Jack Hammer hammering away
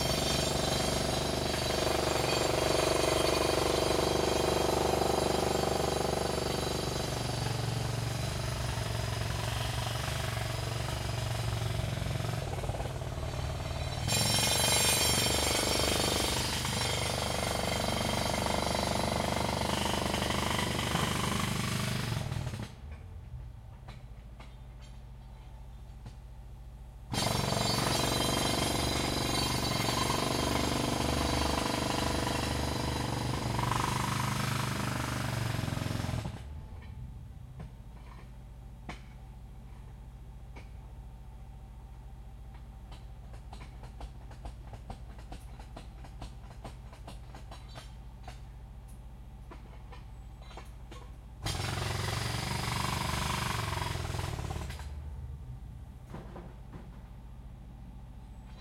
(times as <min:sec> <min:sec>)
0:00.0 0:23.1, 0:27.1 0:36.9, 0:49.5 0:55.0